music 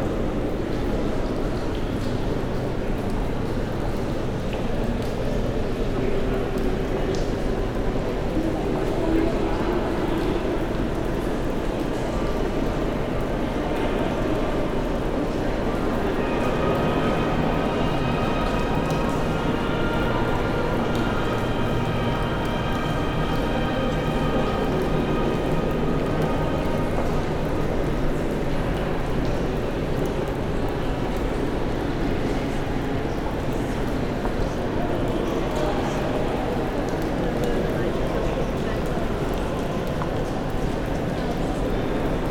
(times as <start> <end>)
14.6 29.1